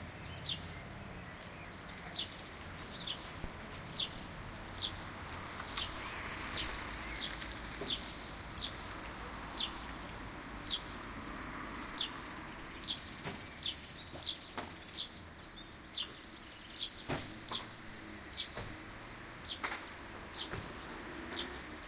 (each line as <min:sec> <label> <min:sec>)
0:00.0 sparrows 0:21.8
0:00.0 traffic 0:21.8